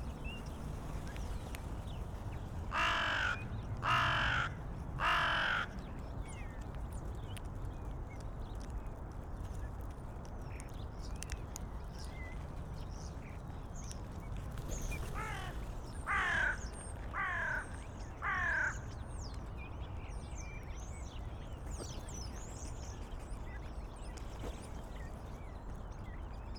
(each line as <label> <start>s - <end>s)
starlings in tree behind 0.0s - 6.6s
Dun crows picking food 0.1s - 19.0s
starlings in tree behind 11.8s - 26.5s